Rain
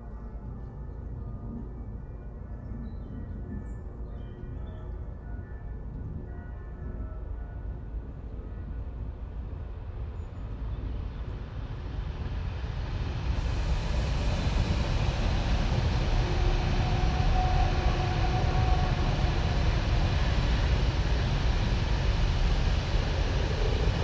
13.4s 23.1s

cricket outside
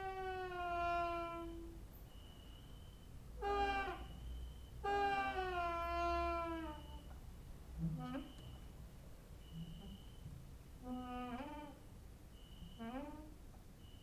1.5s 5.4s, 9.4s 10.3s, 12.3s 13.2s, 13.8s 14.0s

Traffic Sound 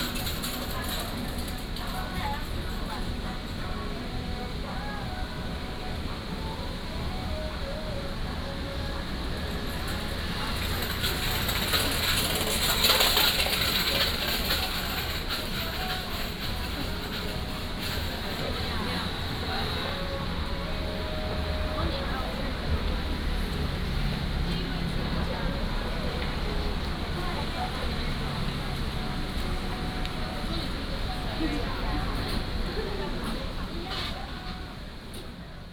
8.9s 35.3s

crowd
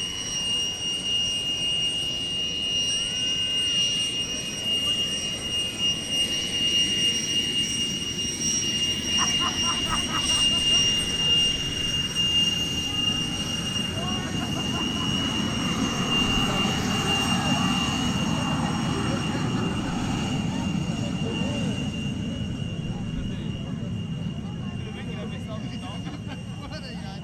9.1s 27.2s

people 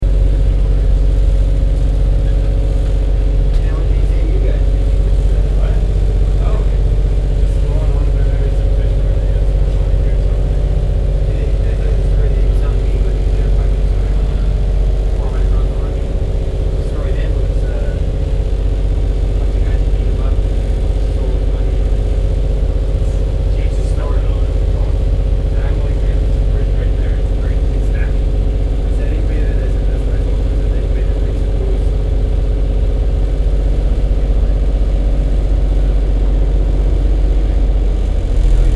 3.5s 18.1s, 19.2s 32.0s

